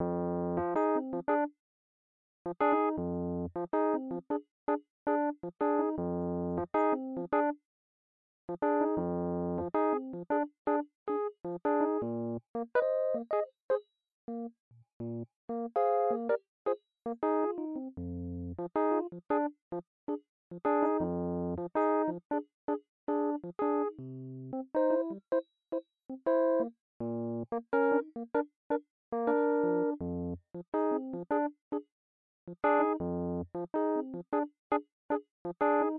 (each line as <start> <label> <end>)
0.5 Rhodes 1.5
5.1 Rhodes 7.6
8.6 Rhodes 14.5
15.5 Rhodes 16.4
20.6 Rhodes 25.4
27.5 Rhodes 28.5
29.2 Rhodes 30.0
35.6 Rhodes 35.9